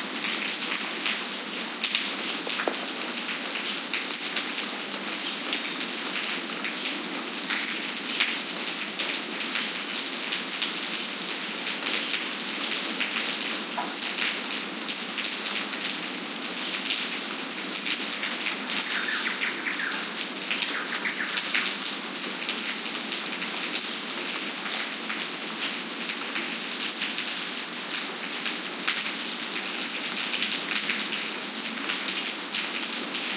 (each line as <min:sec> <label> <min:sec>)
0:00.0 rain on pavement 0:33.3
0:18.1 bird callings 0:22.0